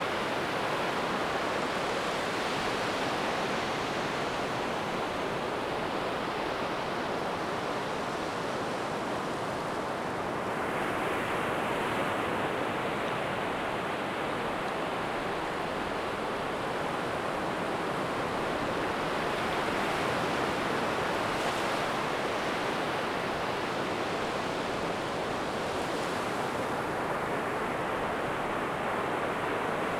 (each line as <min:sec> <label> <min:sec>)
0:00.0 waves rolling onto the shore 0:29.9